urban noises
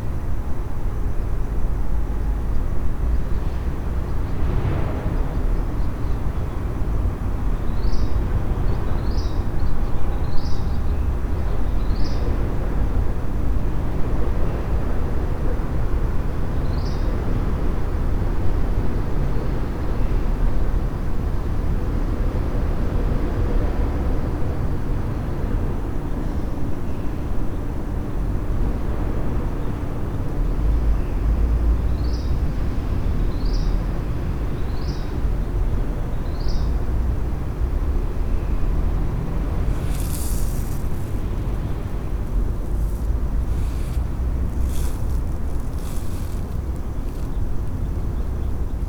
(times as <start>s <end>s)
27.3s 48.8s